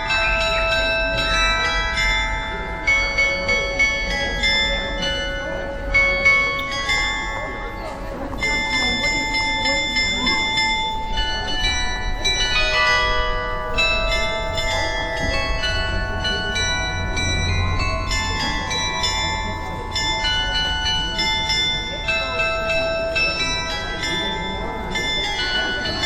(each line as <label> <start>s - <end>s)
Das Glockenspiel am Alten Rathaus erklingt 0.0s - 26.0s